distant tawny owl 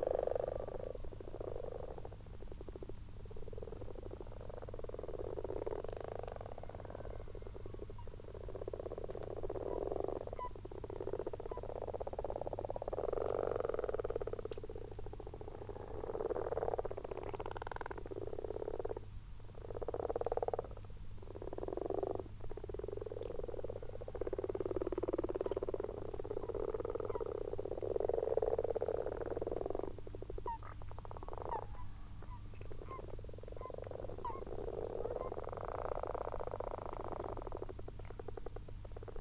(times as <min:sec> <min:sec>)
0:30.4 0:36.2